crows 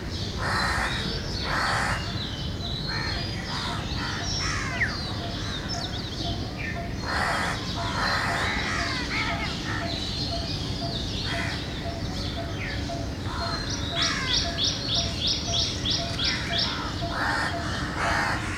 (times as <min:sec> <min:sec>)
0:00.4 0:02.1, 0:02.9 0:05.8, 0:07.0 0:10.4, 0:11.2 0:11.7, 0:13.2 0:14.9, 0:16.0 0:18.5